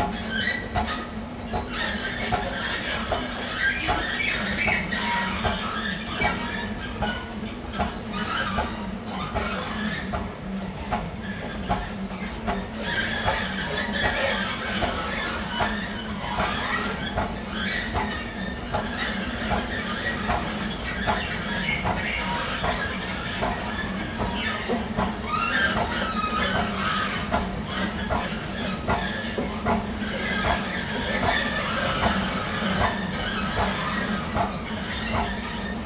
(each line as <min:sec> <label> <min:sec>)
0:11.3 moaning rubber bands at the escalators 0:35.8